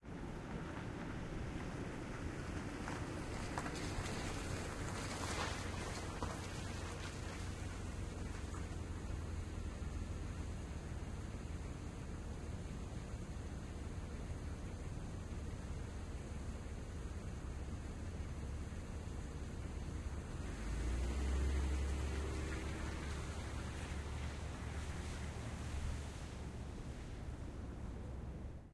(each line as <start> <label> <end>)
0.0 Car arriving idling and pulling away 28.7